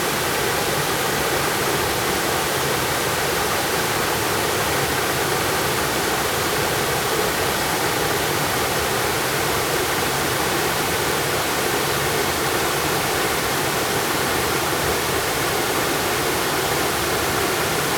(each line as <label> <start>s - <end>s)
waterfall 0.0s - 17.9s